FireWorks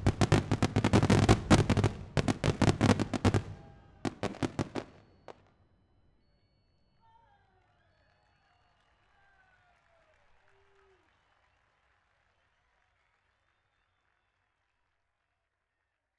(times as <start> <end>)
0.0 5.4